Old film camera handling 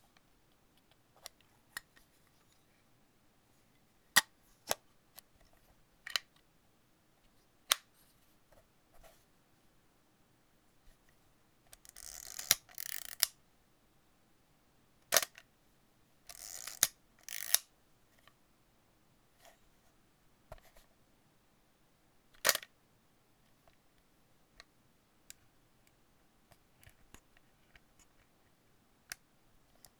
12.0 13.3, 16.3 17.6

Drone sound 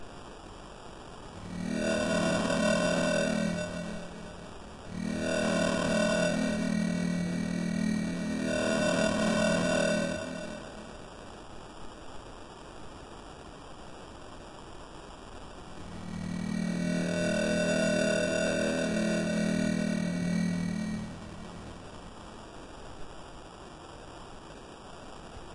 1.3 11.2, 15.7 22.7

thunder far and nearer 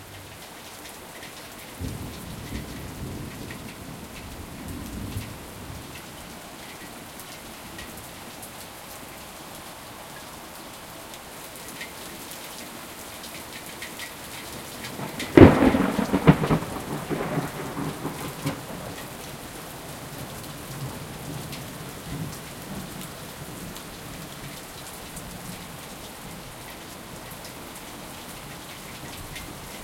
14.9 19.1

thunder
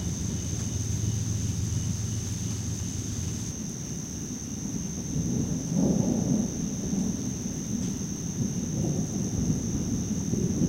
5.0 10.6

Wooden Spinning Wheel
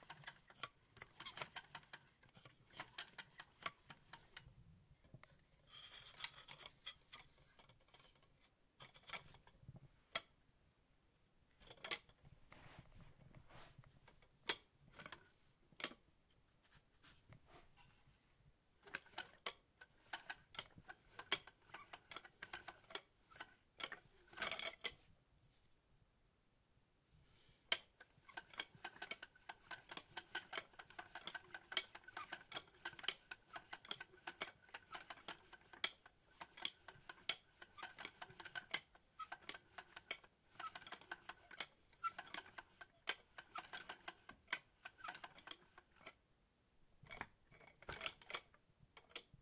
0.0 4.6, 18.8 25.0, 27.7 46.2, 47.1 49.4

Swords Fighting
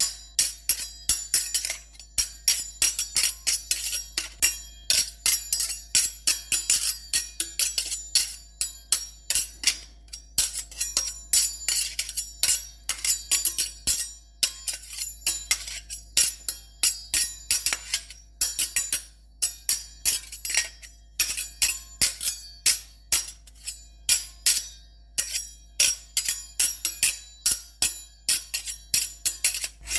29.4 29.9

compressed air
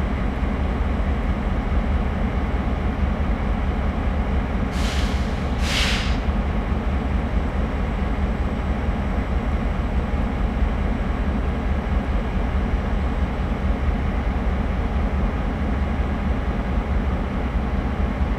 4.8 6.2

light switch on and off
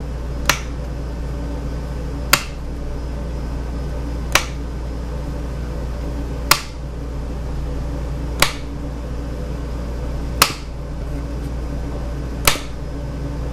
0.4 0.8, 4.3 4.6, 6.5 6.8, 8.4 8.7, 10.4 10.7, 12.4 12.8

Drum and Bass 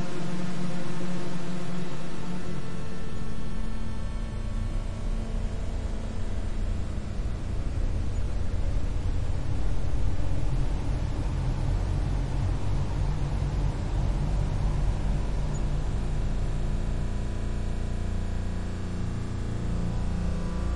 4.0 17.1

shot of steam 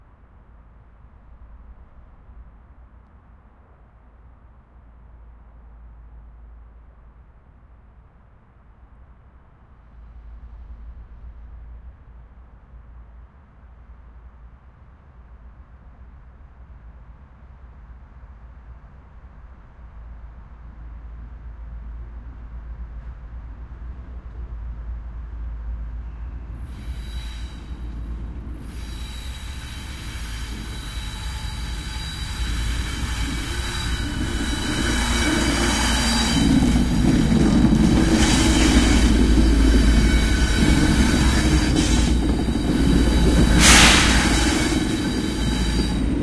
38.1 46.2

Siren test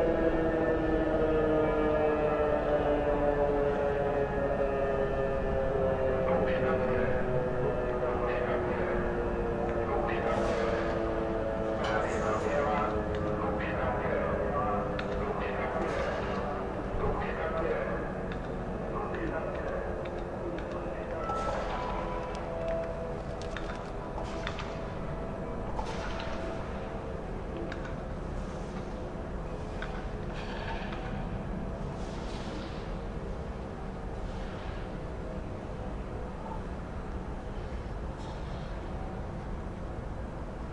20.9 26.6

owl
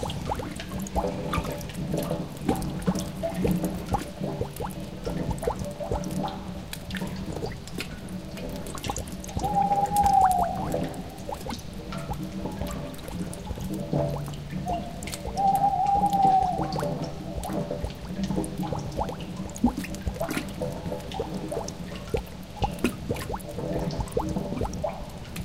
9.4 10.9, 14.7 17.1

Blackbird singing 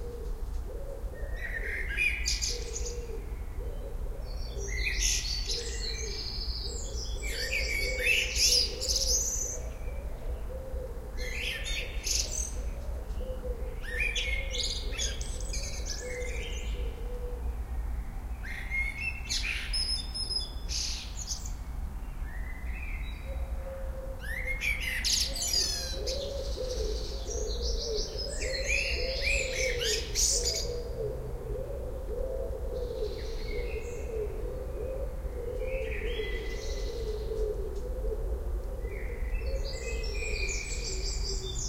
1.2 10.5, 11.2 17.0, 24.2 31.3, 32.8 37.4, 38.9 41.6

